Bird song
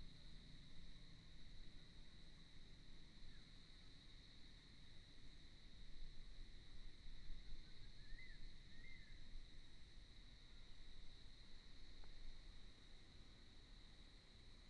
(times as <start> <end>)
7.4 9.3